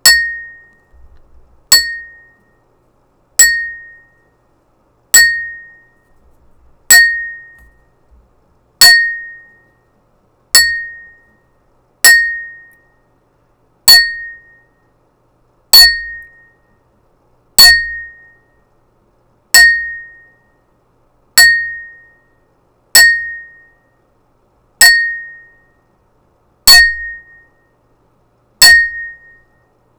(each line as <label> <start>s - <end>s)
Single glass toast dings 0.0s - 0.7s
Single glass toast dings 10.6s - 11.2s